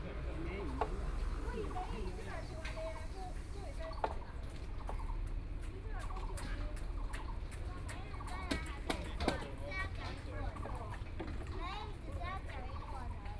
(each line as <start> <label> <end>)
0.0 Construction works 13.3